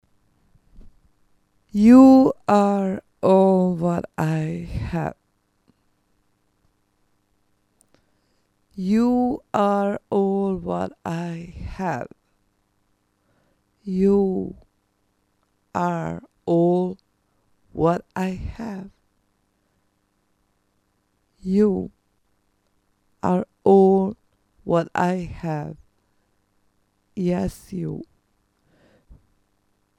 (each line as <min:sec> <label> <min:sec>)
0:01.8 Vocal 0:05.1
0:08.8 Vocal 0:12.1
0:13.9 Vocal 0:14.6
0:15.8 Vocal 0:17.0
0:17.8 Vocal 0:18.9
0:21.4 Vocal 0:21.9
0:23.2 Vocal 0:25.8